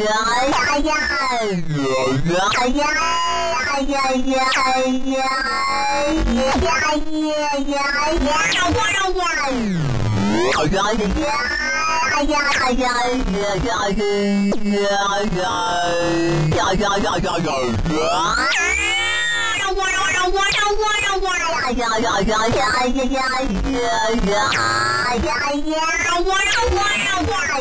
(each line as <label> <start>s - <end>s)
Chaos Generator Talk 10.1s - 18.7s
Chaos Generator Talk 19.7s - 25.4s